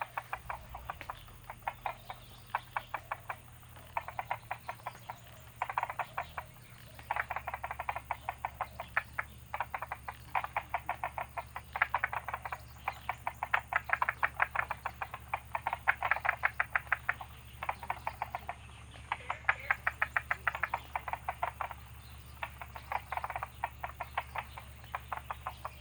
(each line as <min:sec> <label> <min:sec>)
0:00.0 Bird sounds 0:25.8
0:00.0 Frogs chirping 0:25.8